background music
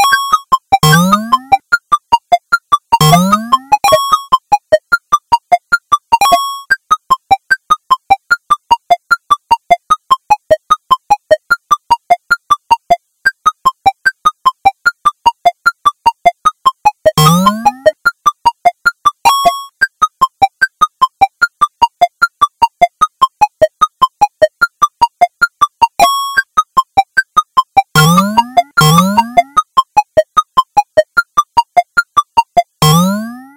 24.2 33.5

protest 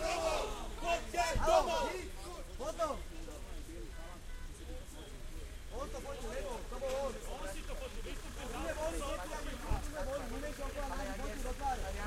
0.0 3.0

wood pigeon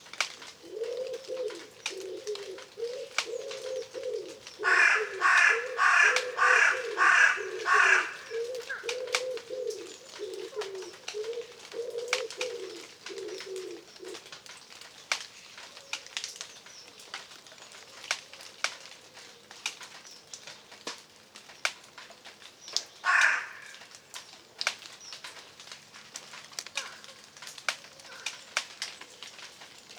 0.1 20.0, 26.3 29.9

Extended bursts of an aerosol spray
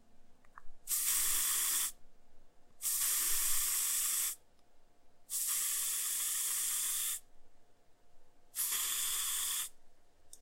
0.9 2.0, 2.8 4.4, 5.3 7.2, 8.6 9.8

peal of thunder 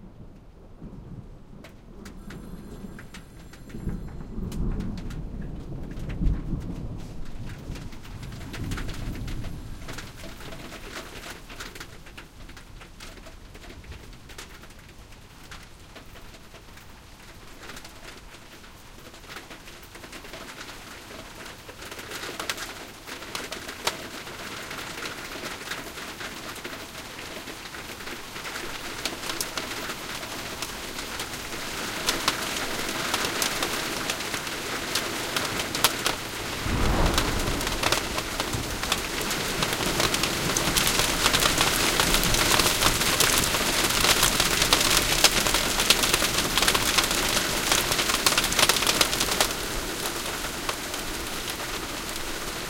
0.8 11.2, 36.1 43.9

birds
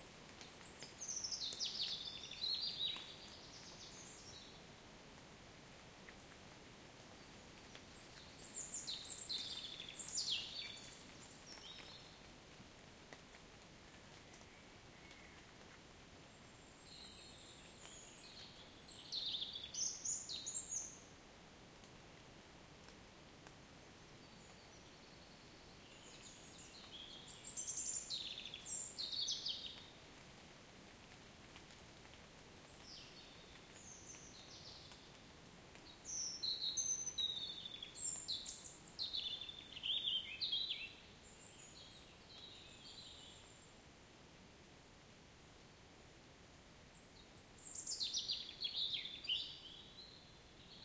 0.3 4.6, 7.2 12.3, 24.2 30.0, 32.6 43.7

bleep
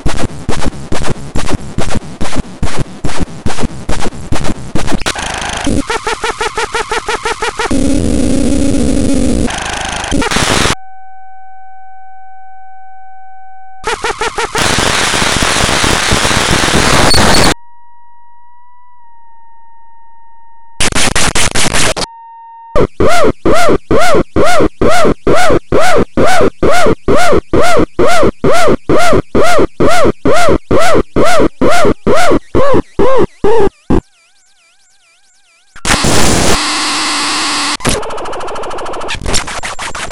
16.8 17.6

